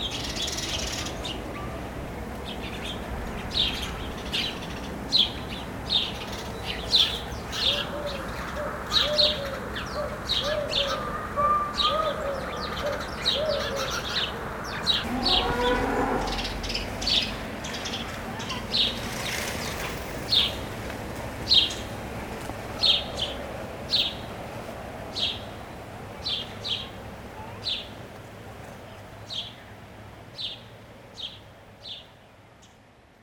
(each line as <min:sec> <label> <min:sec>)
0:02.6 Sparrows fights 0:20.7